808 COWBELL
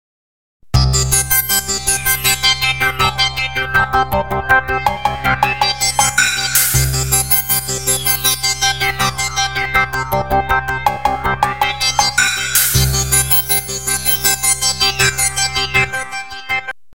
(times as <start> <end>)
6.6 8.3, 12.6 15.0